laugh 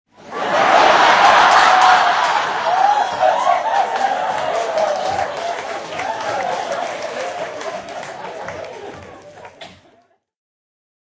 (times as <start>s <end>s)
6.3s 10.2s